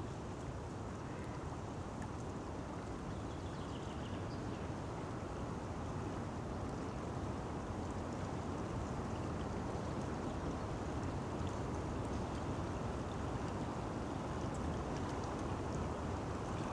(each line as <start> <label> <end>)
0.0 river 16.7